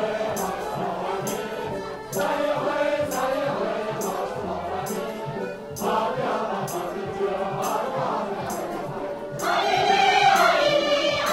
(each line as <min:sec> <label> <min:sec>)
0:00.0 song sung by a group of (old) people 0:11.3